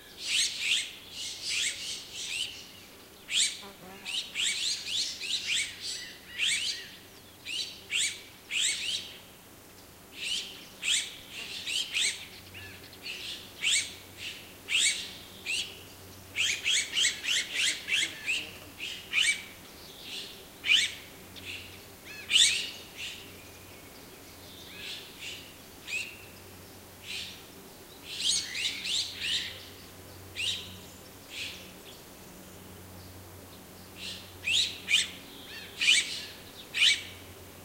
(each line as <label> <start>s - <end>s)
noise made by a group of azure-winged magpies 0.0s - 37.6s